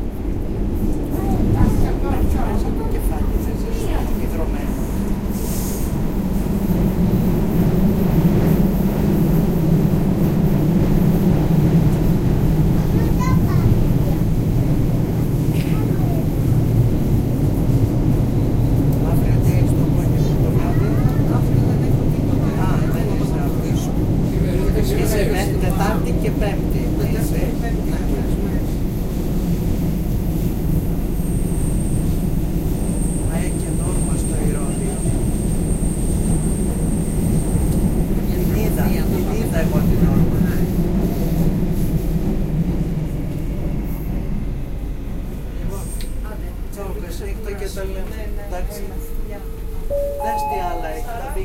ride in the Athens underground 0.0 - 51.4
People talking 1.1 - 4.9
People talking 12.8 - 14.1
People talking 15.5 - 16.4
People talking 19.0 - 28.7
People talking 38.3 - 40.7
People talking 45.6 - 51.4
announcements for each station 48.9 - 51.4

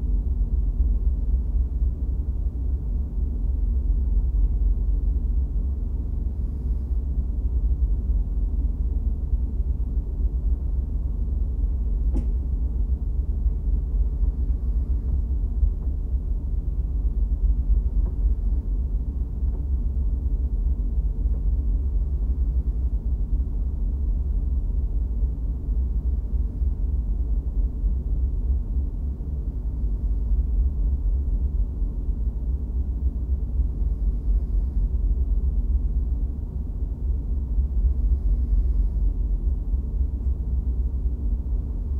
engine 0.0 - 41.9

